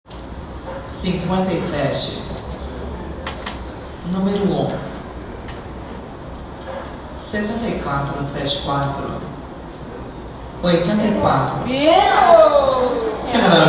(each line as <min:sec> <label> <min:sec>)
0:10.9 Woman calling out numbers 0:13.6